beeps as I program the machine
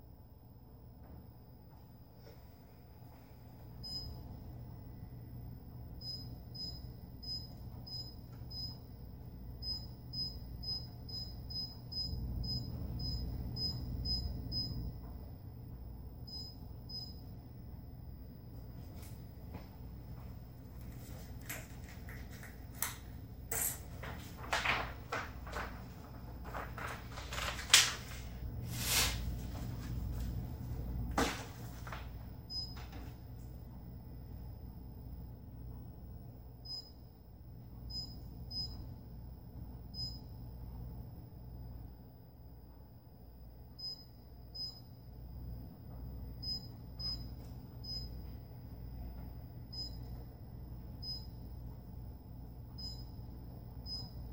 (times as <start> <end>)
3.8 4.2, 6.0 8.8, 9.6 14.9, 16.3 17.3, 32.5 32.8, 36.6 37.1, 37.9 38.9, 39.9 40.3, 43.8 45.0, 46.4 48.2, 49.7 50.2, 51.0 51.4, 52.8 53.2, 53.8 54.2